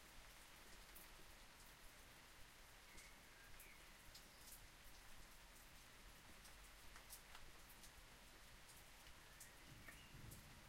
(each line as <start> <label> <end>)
0.0 rain 10.6
0.0 wind 10.6